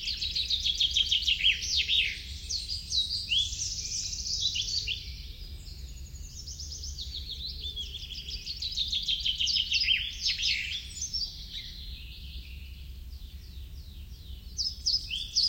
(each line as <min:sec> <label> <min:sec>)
0:00.0 wood warbler 0:15.4